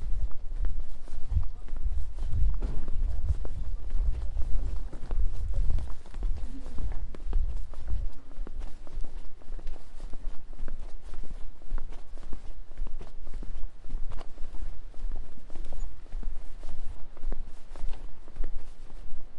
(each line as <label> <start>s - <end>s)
people waking and chatting 0.1s - 11.4s